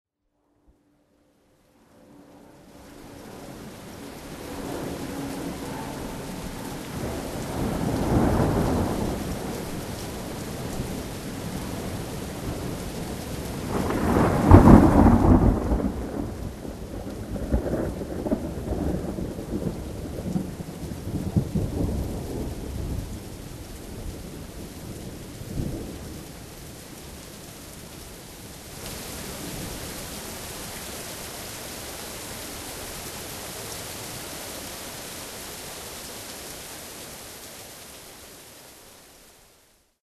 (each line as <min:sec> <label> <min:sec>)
0:02.1 heavy rain storm 0:40.0
0:13.7 Thunder clap 0:16.5